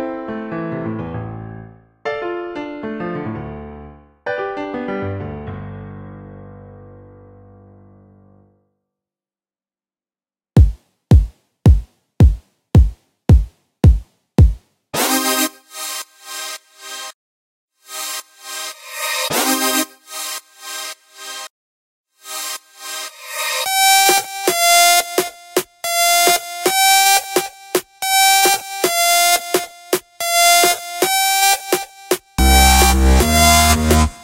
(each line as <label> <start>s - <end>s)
song 26.1s - 34.2s